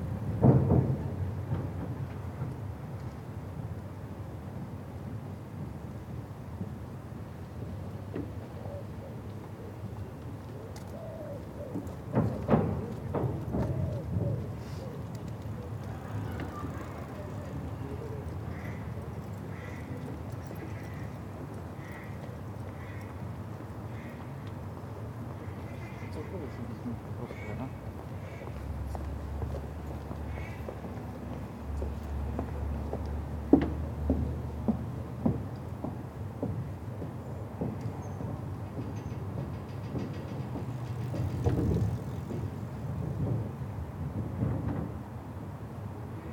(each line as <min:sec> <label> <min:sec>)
0:08.1 walkers 0:44.9
0:09.3 bikes 0:46.3